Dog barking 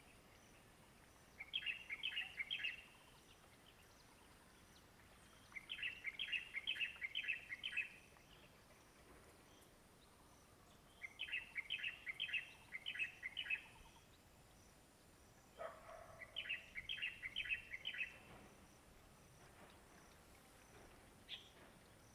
15.6s 16.4s

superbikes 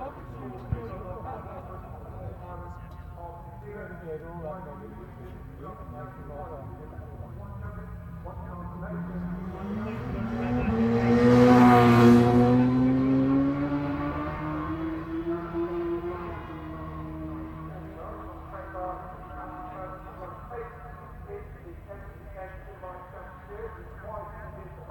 6.3s 20.5s

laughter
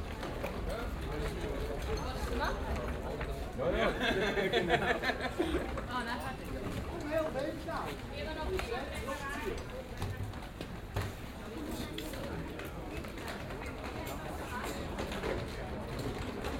3.7s 5.8s

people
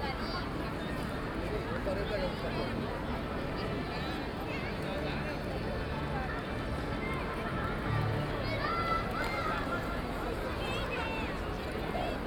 3.5s 12.2s

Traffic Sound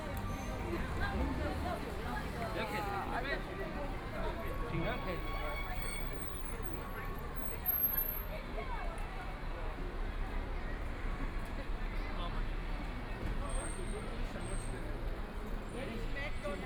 0.0s 8.1s

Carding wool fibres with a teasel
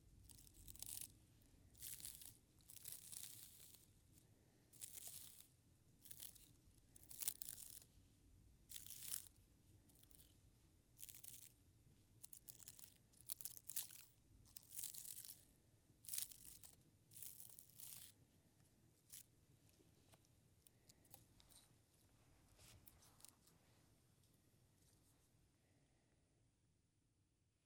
0.0s 8.0s, 8.6s 18.2s

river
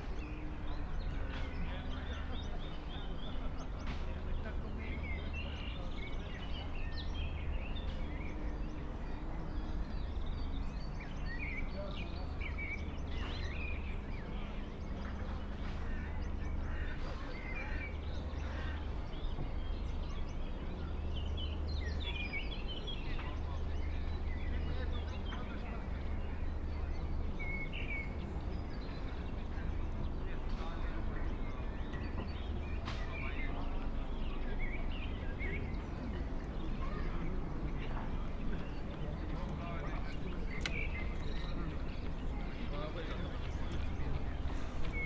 32.1s 45.0s

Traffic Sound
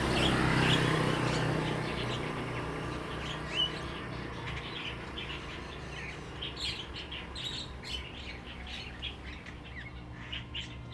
0.0s 5.3s

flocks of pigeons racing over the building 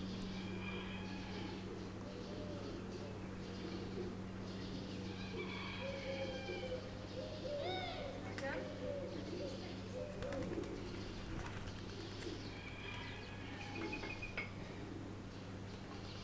9.7s 12.9s

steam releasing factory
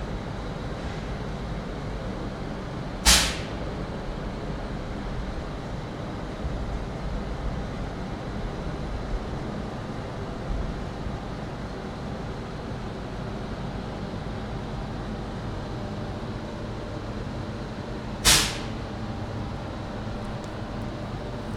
3.0s 4.4s, 18.2s 19.0s

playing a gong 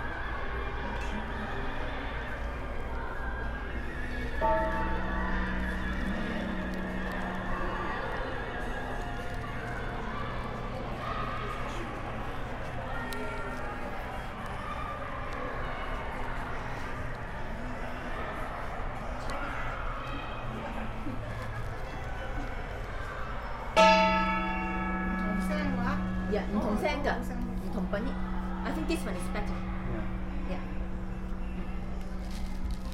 4.4s 9.1s, 23.8s 32.9s

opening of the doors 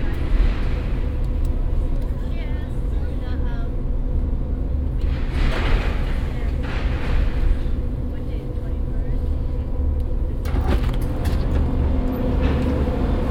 10.4s 13.2s

